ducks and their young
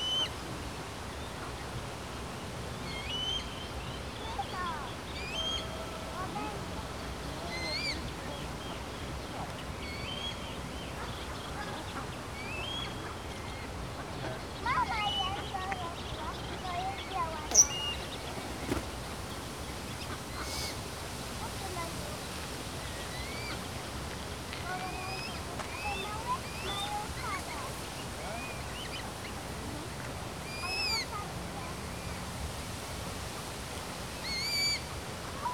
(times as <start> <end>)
4.2 32.2